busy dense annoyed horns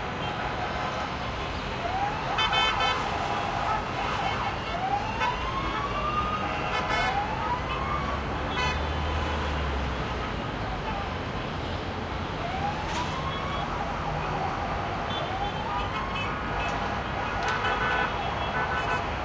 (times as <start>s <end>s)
2.3s 11.0s, 15.0s 19.2s